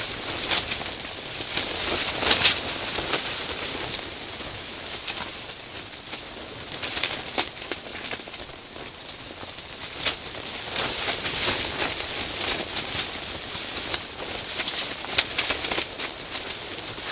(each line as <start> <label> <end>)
0.0 eyelet of the outer layer of the tent working loose 17.1